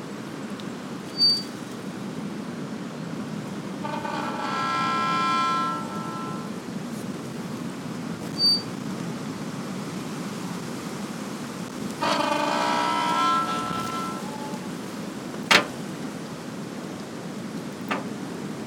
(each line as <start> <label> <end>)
3.6 Gate 6.6
11.7 Gate 16.1
17.8 Gate 18.6